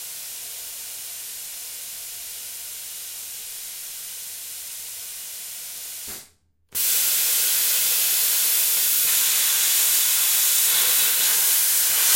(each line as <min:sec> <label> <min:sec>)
0:06.8 plasma cutter to cut a metal plate in pieces 0:12.1